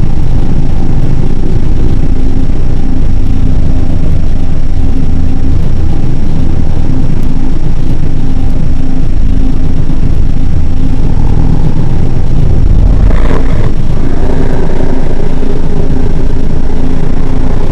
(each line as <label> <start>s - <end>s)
drone 0.0s - 17.7s
processed drum machine 0.0s - 17.7s